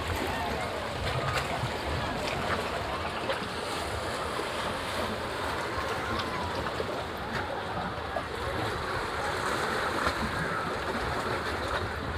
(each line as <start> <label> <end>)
0.0 sea waves 12.1
0.0 visitors of the nearby beach 12.1